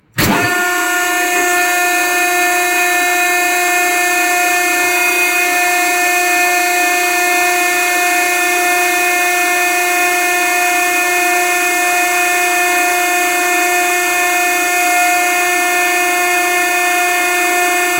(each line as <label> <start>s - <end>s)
Dumpster Startup 0.1s - 5.8s